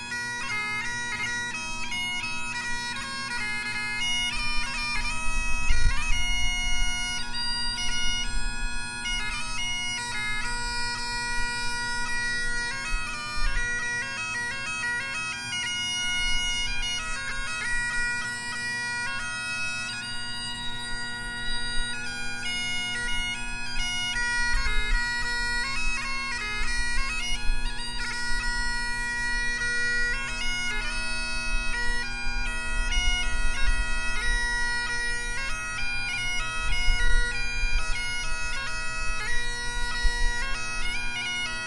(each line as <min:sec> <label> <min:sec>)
0:00.0 Bagpiper practicing 0:41.6
0:00.0 wind 0:41.6